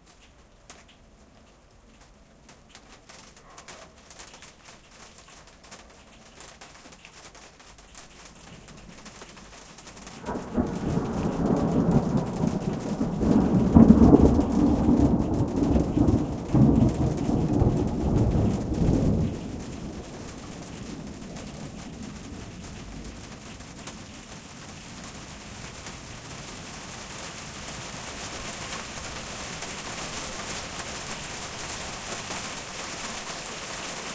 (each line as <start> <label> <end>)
0.0 Rain 34.1
10.2 Thunder 24.9